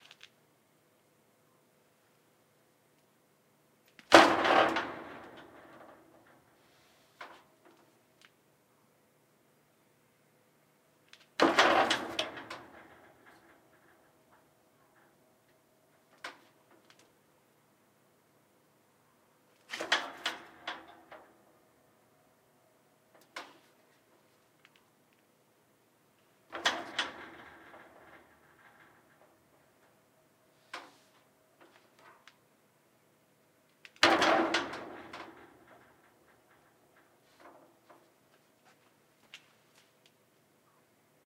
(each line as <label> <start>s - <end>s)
Body Hit On Metal Fence 4.1s - 6.4s
Body Hit On Metal Fence 11.4s - 14.0s
Body Hit On Metal Fence 26.5s - 29.4s
Body Hit On Metal Fence 34.0s - 36.8s